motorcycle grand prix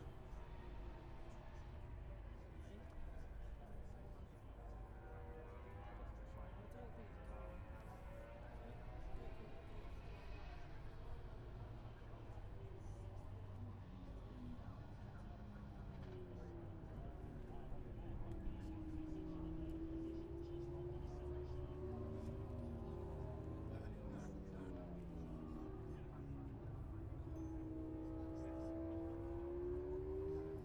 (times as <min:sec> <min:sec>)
0:13.6 0:30.6